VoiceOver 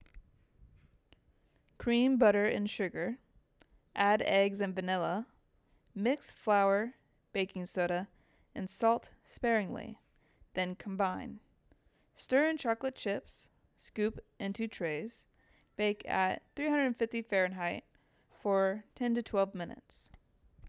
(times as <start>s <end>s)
10.6s 11.4s